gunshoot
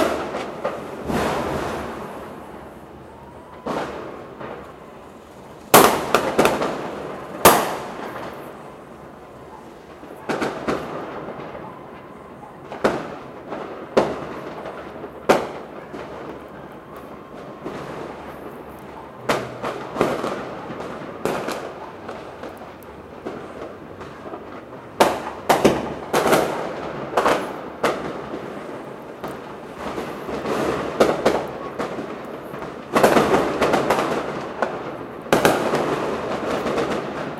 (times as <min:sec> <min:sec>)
0:01.0 0:02.2